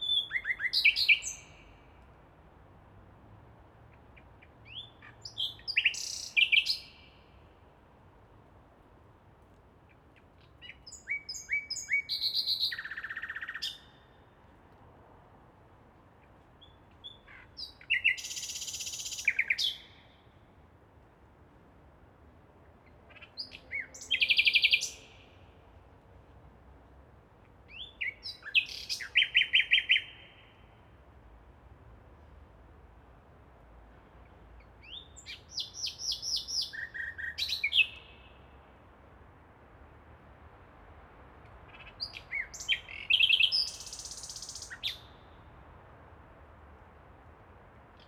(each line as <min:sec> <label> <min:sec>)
0:10.6 nightingale 0:14.1
0:16.7 nightingale 0:20.2
0:23.1 nightingale 0:25.4
0:34.8 nightingale 0:38.5
0:41.7 nightingale 0:45.4